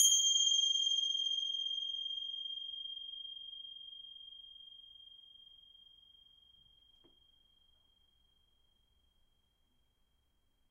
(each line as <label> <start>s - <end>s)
ritual bell 0.0s - 6.9s